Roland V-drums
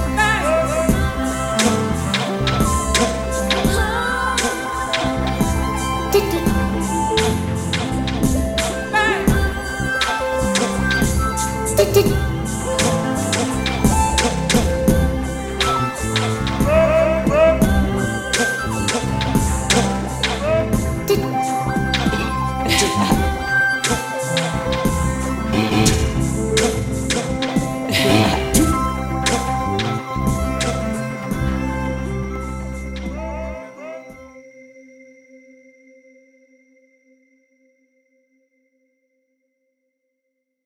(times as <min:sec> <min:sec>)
0:00.9 0:31.7